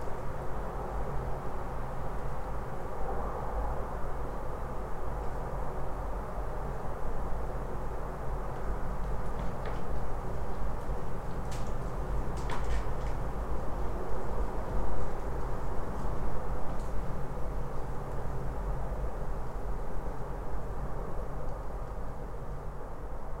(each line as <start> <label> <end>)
0.0 distant hum of a city 23.4